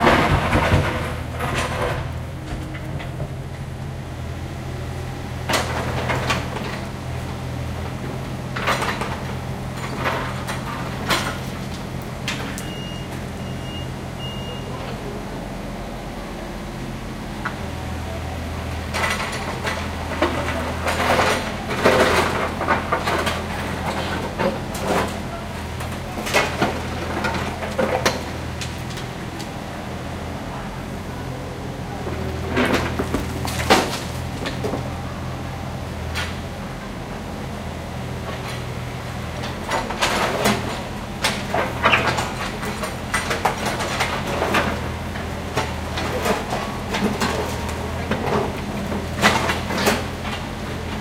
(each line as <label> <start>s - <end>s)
Heavy pieces of asphalt, broken from the street 0.0s - 13.8s
engine 0.0s - 51.0s
excavator 0.0s - 51.0s
lifted up into the a container truck 0.0s - 51.0s
Heavy pieces of asphalt, broken from the street 32.1s - 35.0s